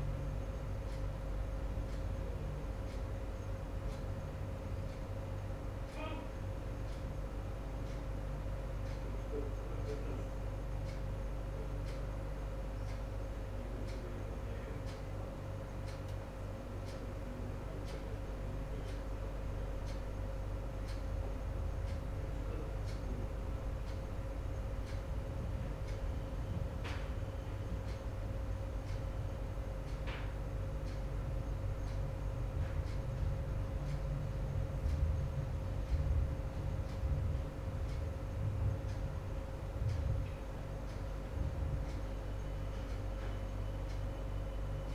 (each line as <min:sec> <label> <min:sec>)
0:00.0 air conditioning 0:44.9
0:00.0 water cooler thermostat 0:44.9
0:00.0 working computers 0:44.9
0:39.8 wall clock 0:44.9